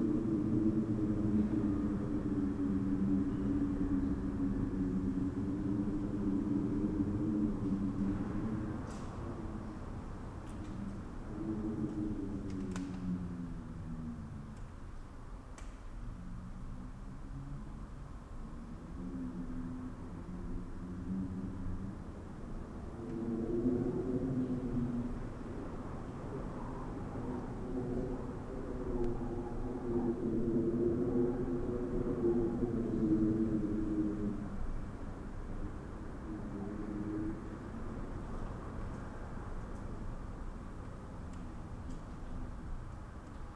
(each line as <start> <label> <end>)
0.0 Wind blowing in a resonant space 43.5